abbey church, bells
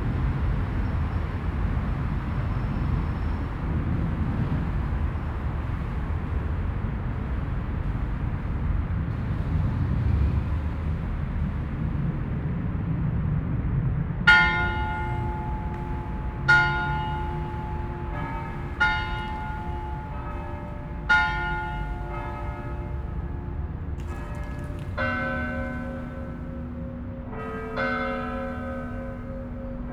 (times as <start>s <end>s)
14.3s 29.9s